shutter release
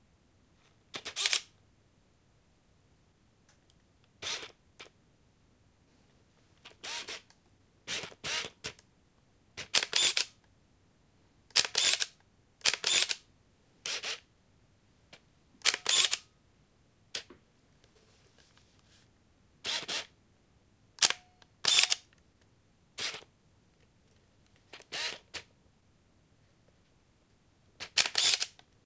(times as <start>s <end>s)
1.0s 1.5s, 9.6s 10.3s, 11.6s 13.2s, 15.6s 16.2s, 21.0s 22.1s, 27.8s 28.6s